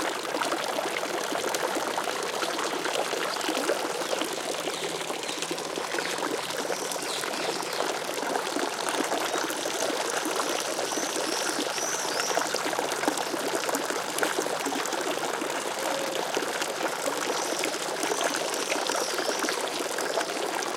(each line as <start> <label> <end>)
0.0 water (from a fountain) splashing 20.7